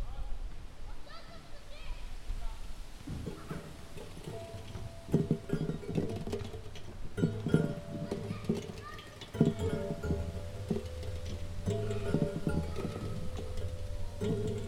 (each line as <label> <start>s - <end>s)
ball that strikes against plates in a rotating disk 3.1s - 14.6s